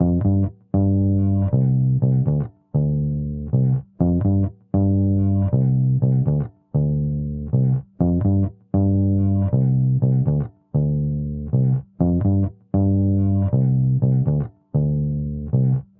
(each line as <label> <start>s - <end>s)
bass 0.0s - 15.9s